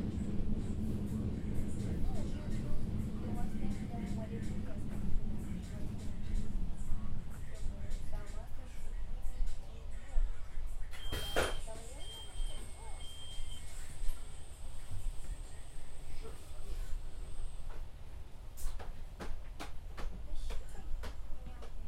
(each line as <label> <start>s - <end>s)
crowded train 0.0s - 21.8s
music 0.0s - 15.9s